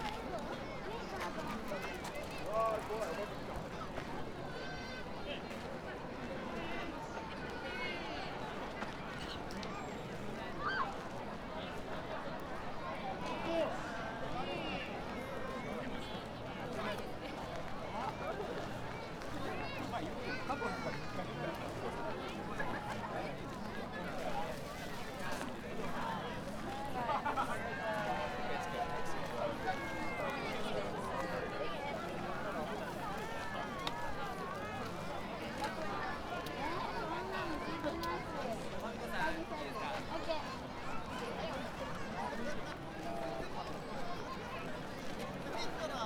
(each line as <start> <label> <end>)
0.0 city dwellers having a picnic 46.0